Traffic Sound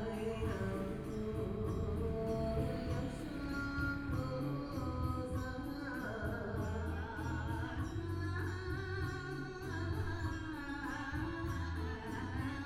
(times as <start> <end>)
0.0 4.5